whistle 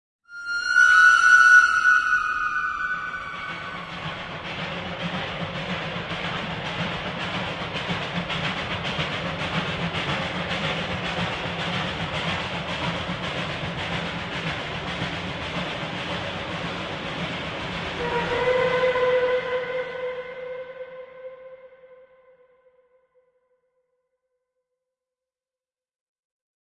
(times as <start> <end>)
0.3 4.8